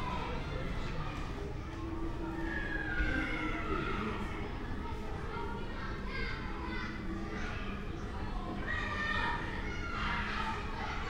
kids playing in nearby school yard 0.0 - 11.0

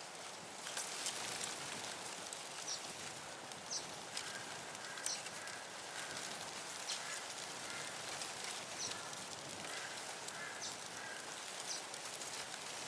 Wind in the Reeds 0.0 - 12.8
Crows in the Sky 4.1 - 11.9

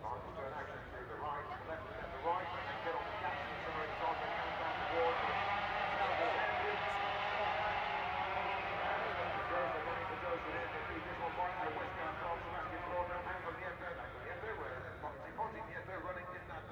commentary 0.0 - 16.7
250 race 1.4 - 14.6

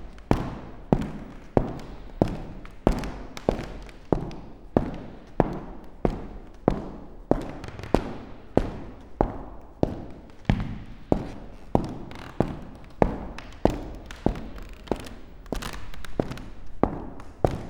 walking with technological ears close to the old parquet floor 0.0 - 17.6

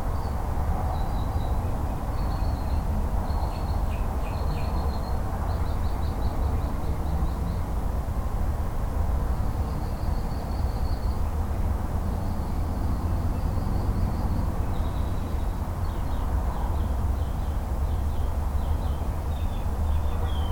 Birds 13.2 - 20.5

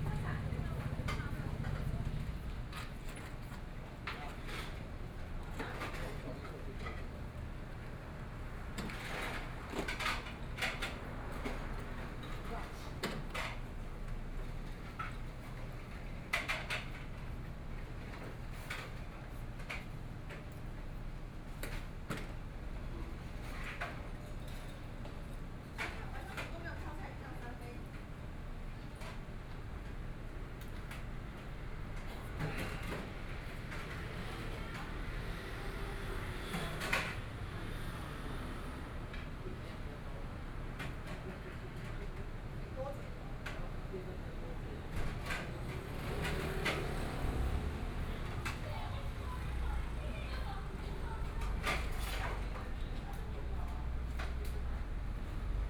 Traffic Sound 0.0 - 3.0
Traffic Sound 31.5 - 41.0
Traffic Sound 44.7 - 55.6

